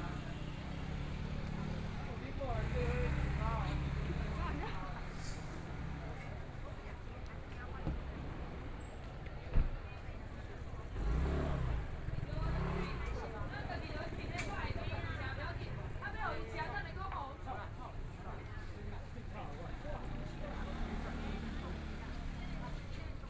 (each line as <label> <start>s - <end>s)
Traffic Sound 0.0s - 23.2s
Walking through the market 0.0s - 23.2s